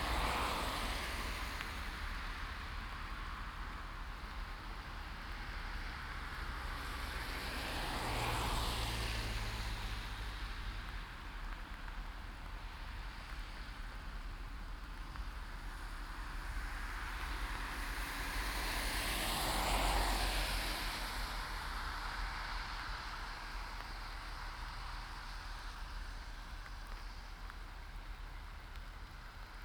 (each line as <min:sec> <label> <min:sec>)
0:00.0 traffic 0:29.6